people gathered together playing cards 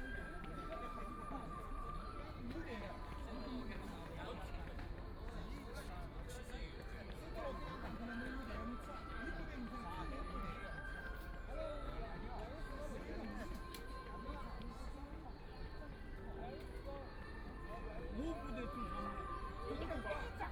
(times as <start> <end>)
11.7 17.1